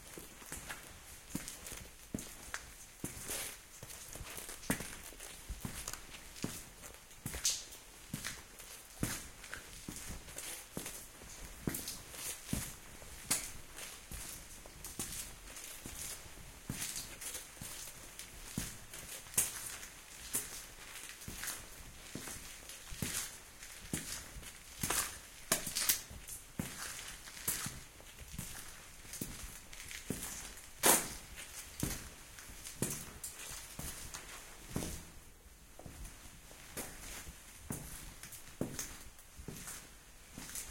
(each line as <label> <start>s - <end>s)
cave footsteps 0.0s - 40.7s